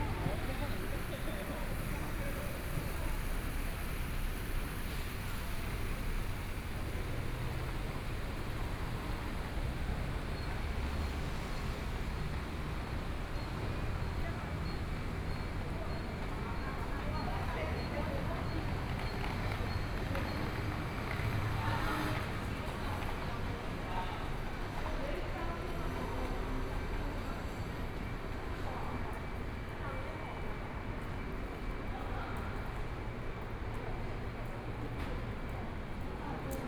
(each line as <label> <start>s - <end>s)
Traffic Noise 0.0s - 36.6s
walking in the street 0.0s - 36.6s